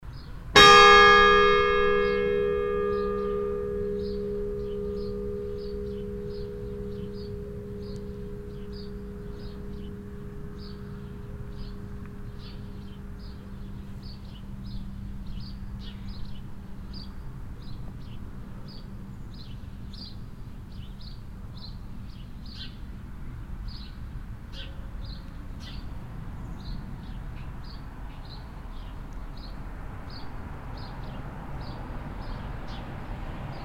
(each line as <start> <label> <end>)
0.0 passing traffic on the nearby road 33.6
0.2 church bell 20.2